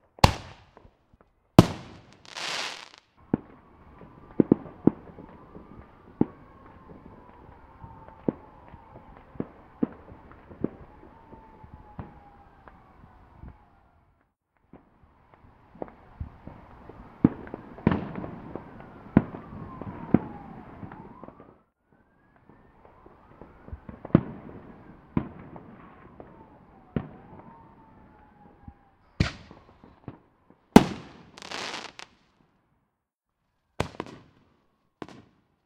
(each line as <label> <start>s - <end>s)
Distant Fireworks 0.0s - 0.9s
Distant Fireworks 1.6s - 13.9s
police sirens 2.2s - 14.3s
Distant Fireworks 14.7s - 21.6s
police sirens 15.1s - 32.0s
Distant Fireworks 22.3s - 32.2s
Distant Fireworks 33.8s - 35.6s